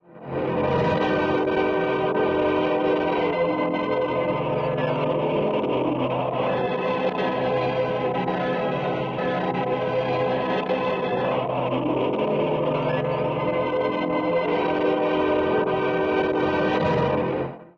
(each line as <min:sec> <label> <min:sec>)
0:01.0 Low Mens Choir 0:17.3